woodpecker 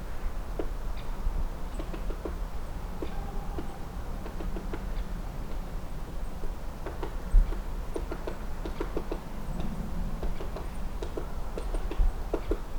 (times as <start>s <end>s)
1.7s 2.4s, 6.8s 9.2s, 10.2s 12.7s